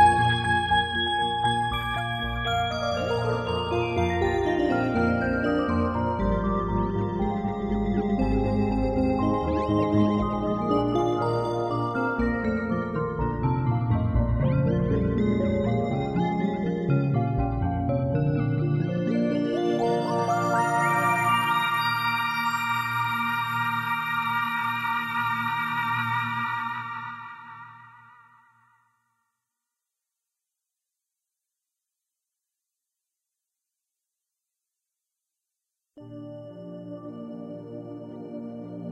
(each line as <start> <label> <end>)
0.0 synth 28.6